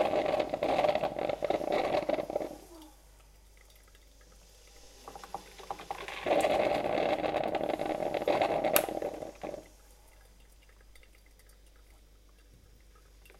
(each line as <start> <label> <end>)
0.0 Old Coffee Maker 3.0
4.8 Old Coffee Maker 9.8